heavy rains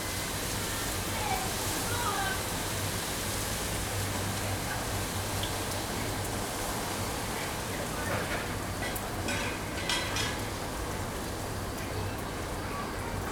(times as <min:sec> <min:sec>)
0:00.0 0:08.7